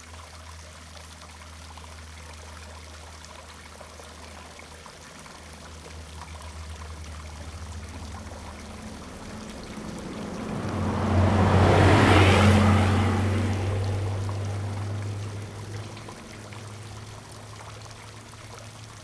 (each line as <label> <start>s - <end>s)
Traffic Sound 4.7s - 19.0s